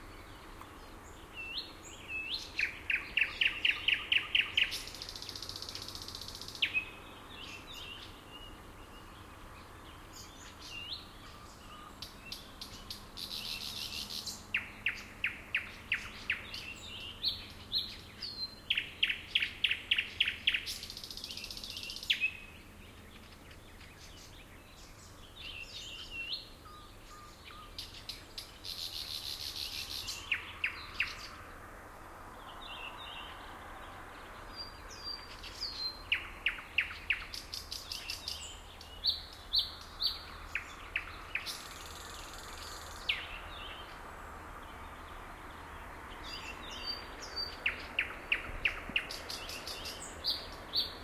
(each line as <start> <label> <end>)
0.0 Nightingale singing 31.5
0.0 Distant traffic 51.0
0.0 other birds 51.0
32.3 Nightingale singing 44.0
44.6 Nightingale singing 51.0